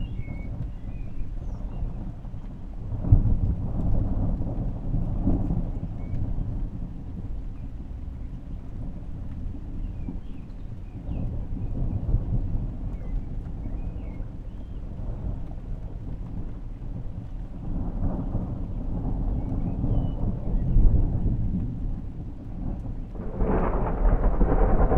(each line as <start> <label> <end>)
0.0 Thunderstorm 10.3
11.0 Thunderstorm 24.9
15.2 Heavy Rain 24.9